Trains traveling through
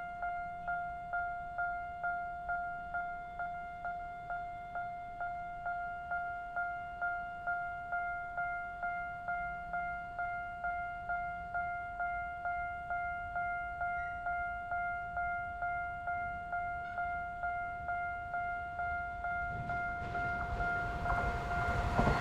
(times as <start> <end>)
7.4 22.2